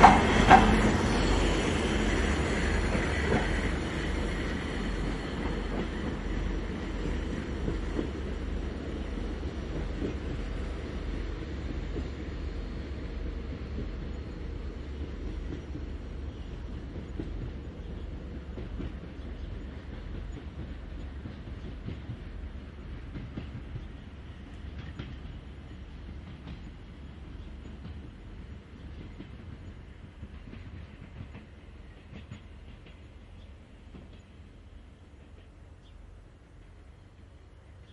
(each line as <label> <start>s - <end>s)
diesel locomotive 0.0s - 37.9s